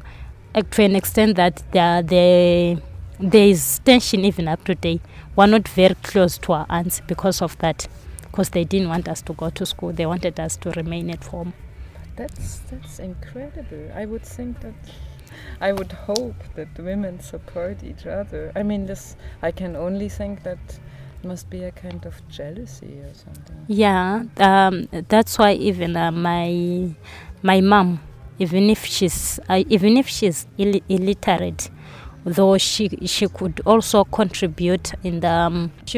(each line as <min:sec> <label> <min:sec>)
0:00.0 market, shops, bars and taxi rank 0:35.9
0:00.5 Linda tells about the challenges 0:35.9